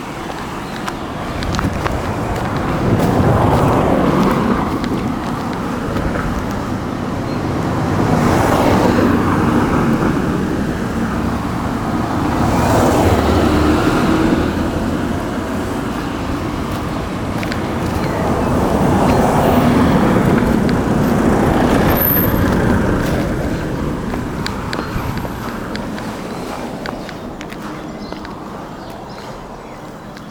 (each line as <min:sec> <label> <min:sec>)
0:00.0 Walking through the public park 0:30.3
0:00.0 park life 0:30.3